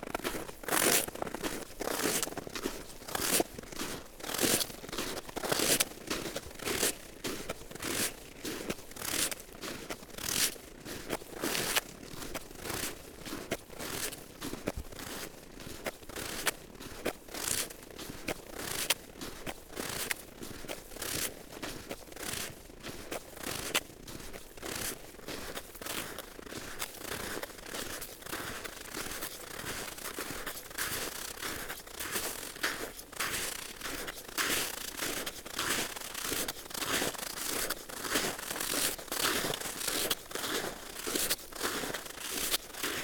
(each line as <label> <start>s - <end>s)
walking on frozen snow and ice 0.0s - 43.0s